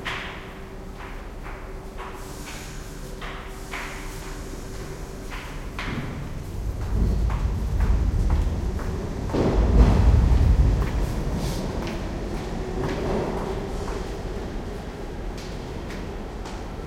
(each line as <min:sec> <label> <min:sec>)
0:00.0 subway tunnel train pass overhead 0:16.8